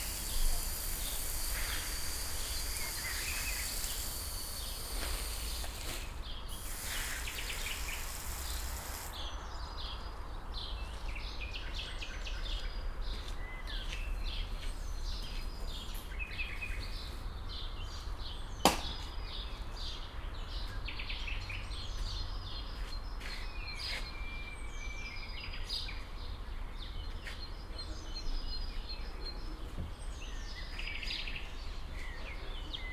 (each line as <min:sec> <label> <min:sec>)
0:00.0 man watering garden 0:09.2